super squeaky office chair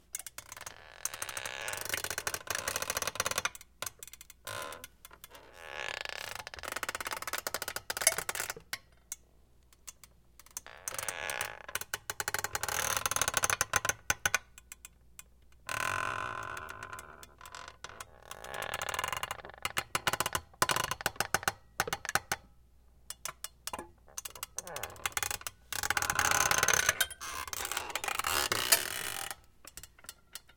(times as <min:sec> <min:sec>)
0:00.4 0:03.3, 0:04.5 0:07.2, 0:15.7 0:19.9, 0:24.1 0:29.5